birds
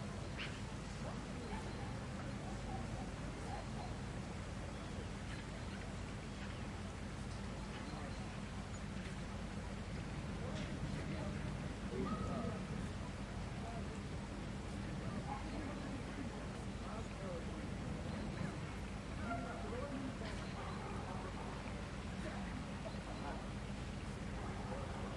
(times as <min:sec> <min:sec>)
0:00.1 0:09.5, 0:18.0 0:25.1